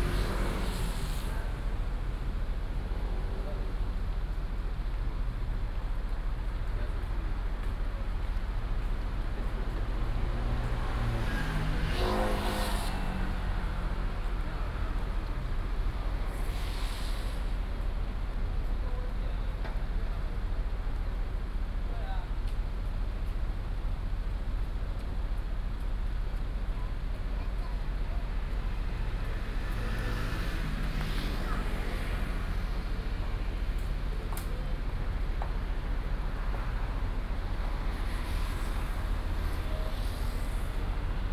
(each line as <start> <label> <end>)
0.0 Traffic noise 41.3
1.4 Walking on the road 16.8
17.4 Walking on the road 41.3